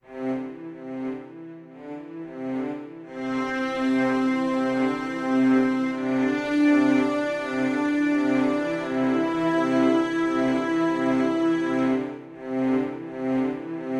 synth 0.3 - 13.9

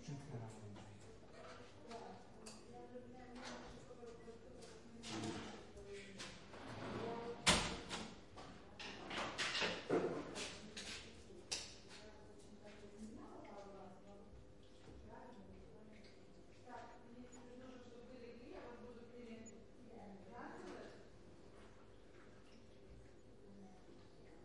people talking in Polish and Lithuanian 0.0 - 8.0
people talking in Polish and Lithuanian 9.6 - 21.1

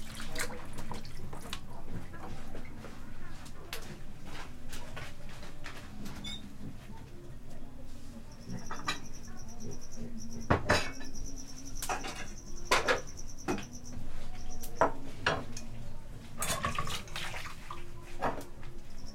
water 0.0 - 2.8
voices 0.0 - 19.1
cricket 8.2 - 15.4
dishes 8.4 - 9.7
dishes 10.4 - 13.8
dishes 16.4 - 17.2
water 16.4 - 18.2
cricket 18.8 - 19.1

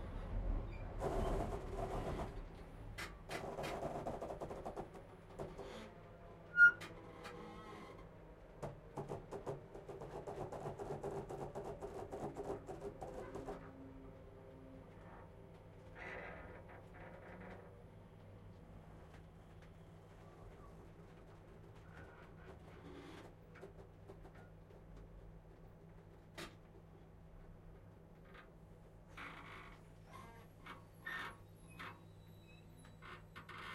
train 0.0 - 16.1
squeak 6.5 - 6.8
train 17.4 - 22.2
train 30.0 - 33.0
squeak 30.0 - 33.7

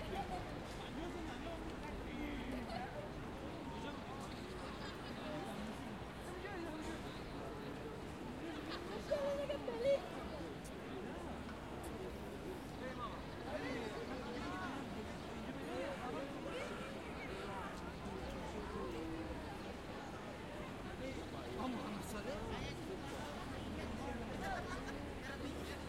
crowd 0.0 - 25.8
wind 0.0 - 25.8

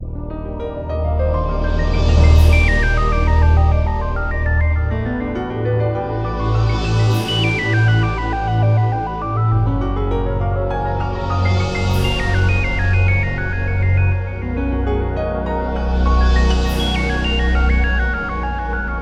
ocean music 0.0 - 19.0

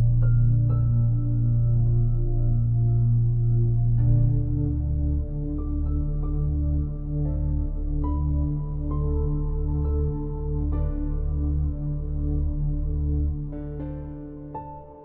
PIANO 0.0 - 15.0

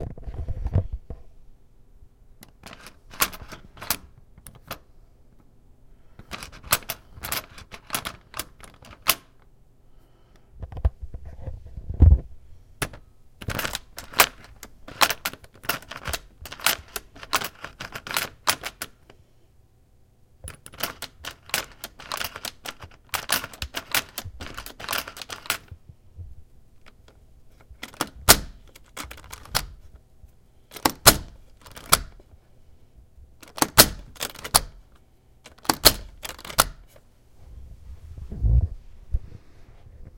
locking and unlocking deadbolt 2.4 - 4.8
Jiggling the handle of a door handle 2.4 - 4.8
Jiggling the handle of a door handle 6.2 - 9.4
locking and unlocking deadbolt 6.2 - 9.5
locking and unlocking deadbolt 12.8 - 19.1
Jiggling the handle of a door handle 12.8 - 19.0
Jiggling the handle of a door handle 20.4 - 25.7
locking and unlocking deadbolt 20.4 - 25.8
Jiggling the handle of a door handle 26.8 - 29.8
locking and unlocking deadbolt 26.8 - 30.0
Jiggling the handle of a door handle 30.7 - 32.2
locking and unlocking deadbolt 30.7 - 32.3
Jiggling the handle of a door handle 33.4 - 34.8
locking and unlocking deadbolt 33.4 - 37.0
Jiggling the handle of a door handle 35.5 - 37.0

